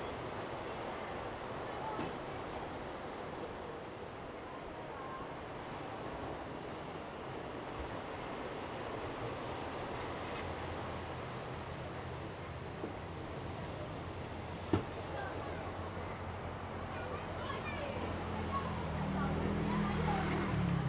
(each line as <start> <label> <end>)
0.0 waves 20.8
13.4 Traffic Sound 20.8